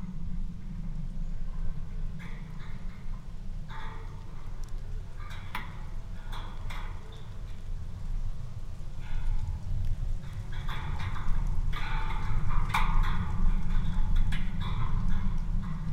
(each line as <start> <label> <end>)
2.2 deer fence 7.7
9.0 deer fence 15.9